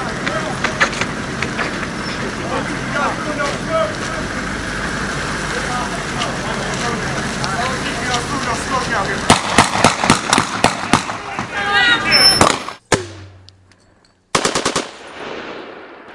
9.3s gun 11.2s
12.3s gun 13.5s
14.3s gun 16.1s

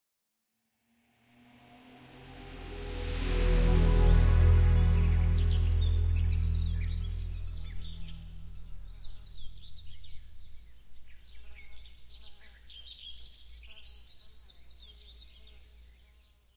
1.0s soft synth in the background 10.8s

